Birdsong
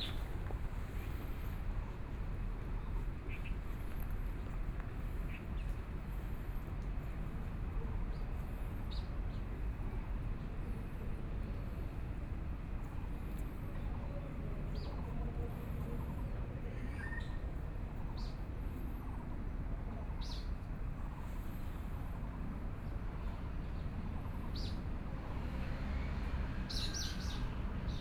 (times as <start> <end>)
0.0 0.3